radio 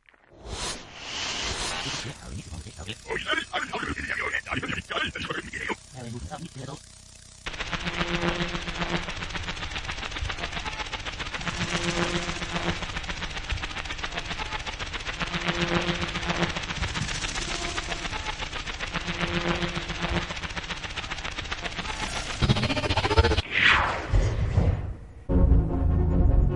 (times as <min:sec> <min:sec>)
0:01.0 0:06.8, 0:15.4 0:24.0